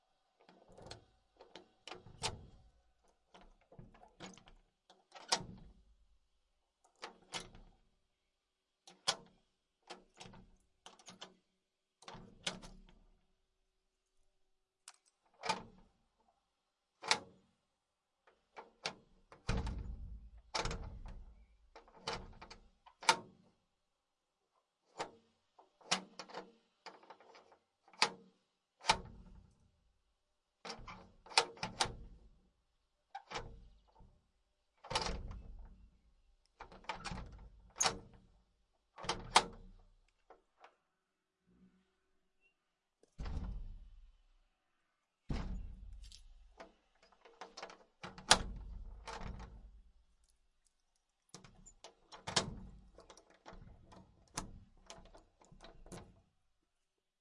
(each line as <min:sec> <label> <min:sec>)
0:51.3 handle in wood shutter door turn twists squeaks 0:56.2